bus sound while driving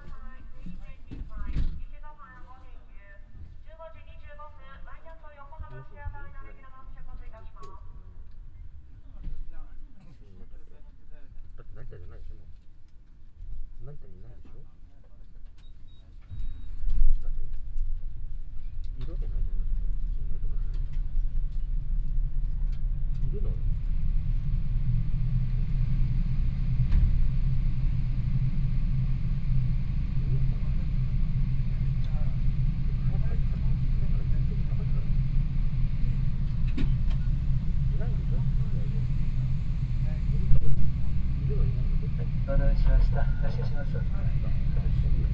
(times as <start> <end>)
0.0 1.8, 17.6 45.3